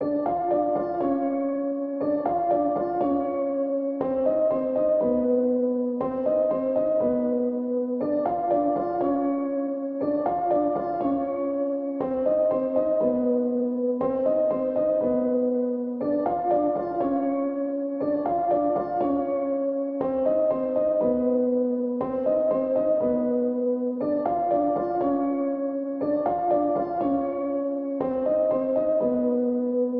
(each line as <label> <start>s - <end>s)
piano 0.0s - 29.9s